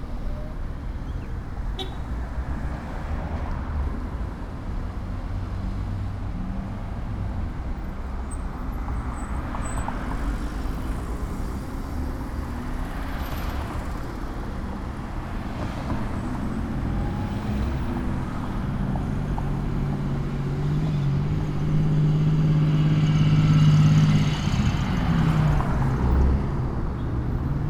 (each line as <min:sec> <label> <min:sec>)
0:00.0 Traffic 0:27.6